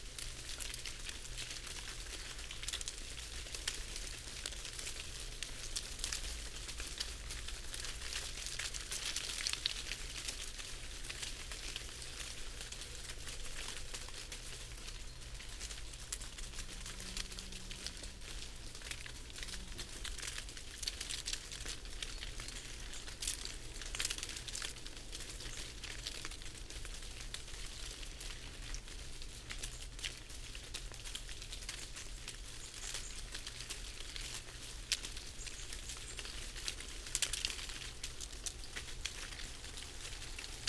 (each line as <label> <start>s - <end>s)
background noise 0.0s - 40.6s
falling sycamore leaves 0.0s - 40.6s